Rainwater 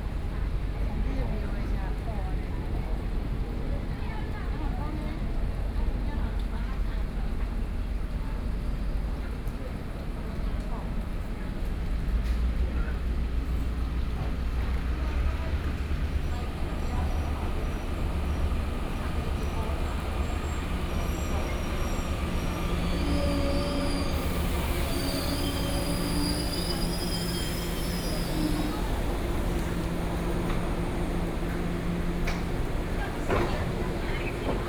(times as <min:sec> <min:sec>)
0:24.1 0:34.4